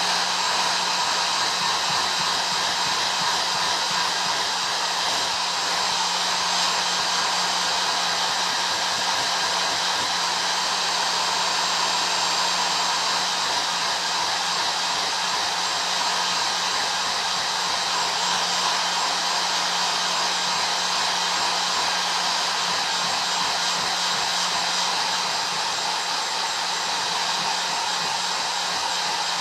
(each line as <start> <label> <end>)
0.0 Hair Dryer 29.4